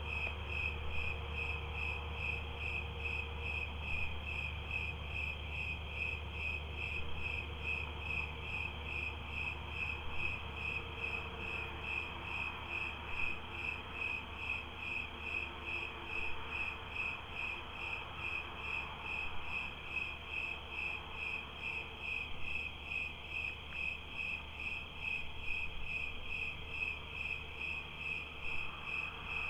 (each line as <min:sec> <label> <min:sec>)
0:00.0 night peepers on the road 0:29.4